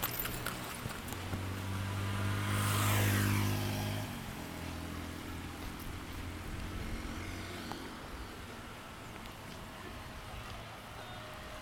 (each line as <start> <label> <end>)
8.1 rain 11.6